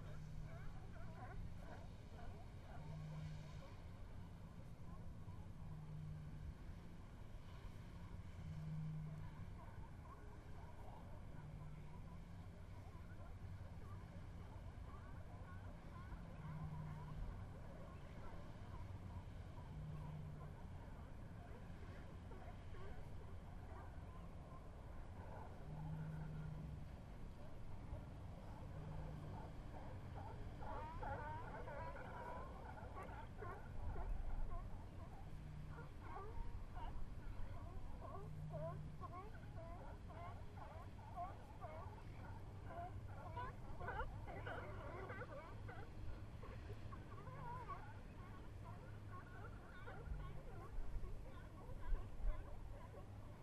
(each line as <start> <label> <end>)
0.0 California sea lions in a distance 53.4
0.0 boats entering mouth of Bodega Bay 53.4